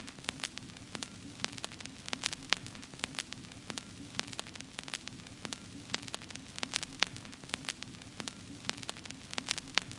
crackle 0:00.0 - 0:09.9

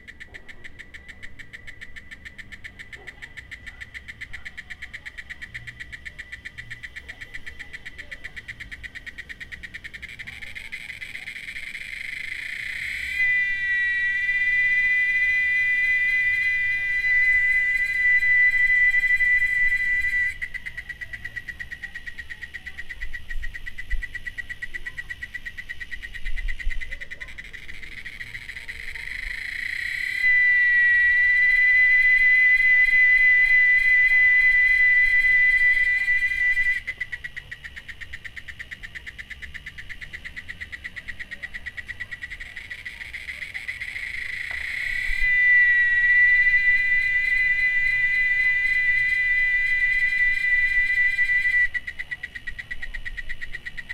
intense cicada (Quesada Gigas) 0:00.0 - 0:53.9

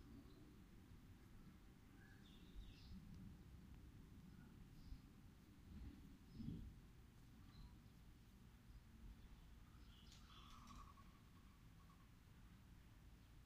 birds 0:08.7 - 0:13.4

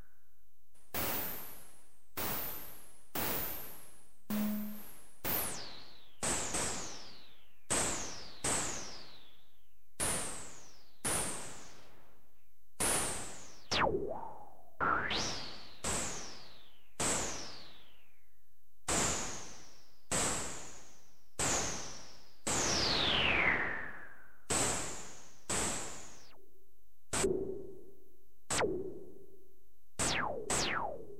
miscellaneous scifi effects 0:04.3 - 0:04.9

